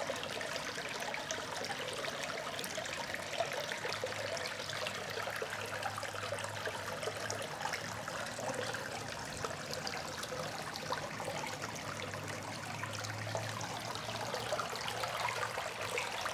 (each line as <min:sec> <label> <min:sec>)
0:00.0 rain water drain pipe 0:16.3